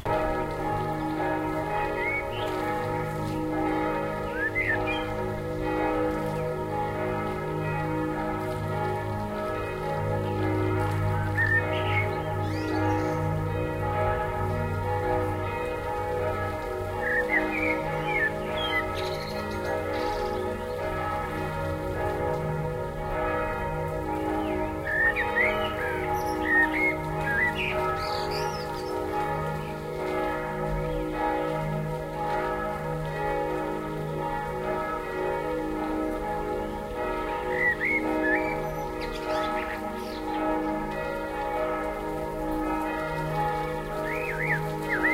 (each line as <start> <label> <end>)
0.0 churchbells 45.1
4.3 blackbird 5.2
11.4 blackbird 13.2
17.0 blackbird 20.4
24.4 blackbird 28.9